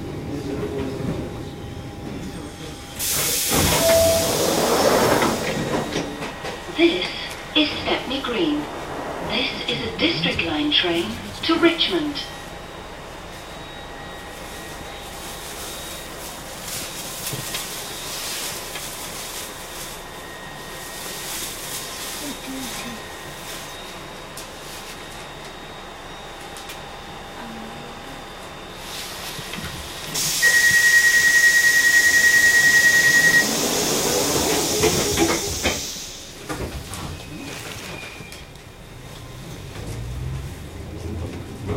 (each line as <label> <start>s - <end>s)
train departing and arriving at each station 0.0s - 41.7s
announcer inside the train saying the station names 0.1s - 15.9s
beeps 3.7s - 4.5s
announcer inside the train saying the station names 22.0s - 24.2s
announcer inside the train saying the station names 25.3s - 36.4s